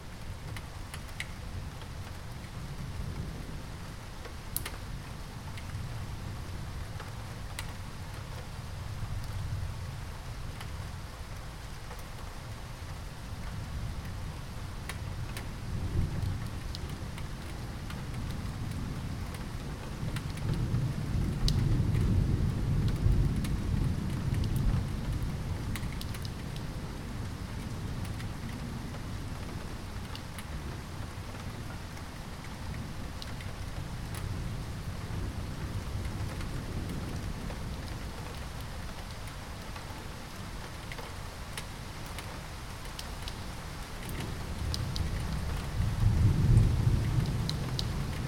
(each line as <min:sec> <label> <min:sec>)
0:00.0 rain noises with increasing volume 0:48.2
0:44.6 rumbling sound of thunder from far away 0:48.2